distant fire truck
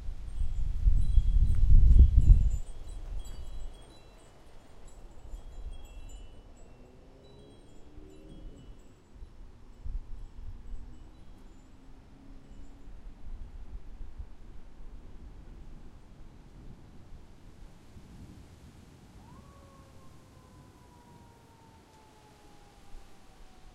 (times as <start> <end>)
6.4 23.7